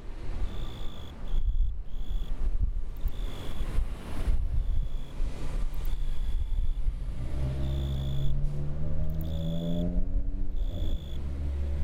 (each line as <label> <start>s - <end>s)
Grasshopper 3.0s - 3.8s
Grasshopper 4.6s - 6.8s
Grasshopper 7.4s - 8.4s
Grasshopper 9.0s - 9.9s